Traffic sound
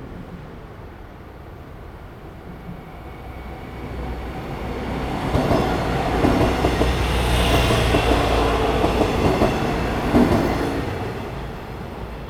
0:03.3 0:12.2

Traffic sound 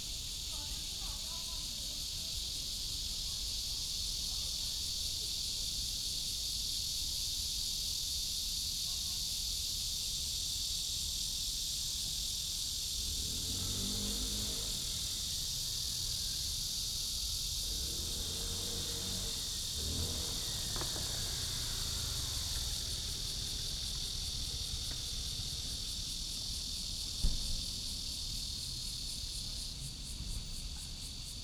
0:12.9 0:29.4

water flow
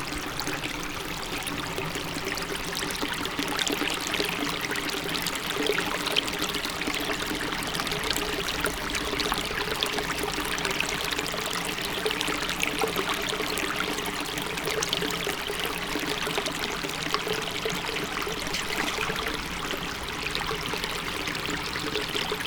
0:16.8 0:22.4

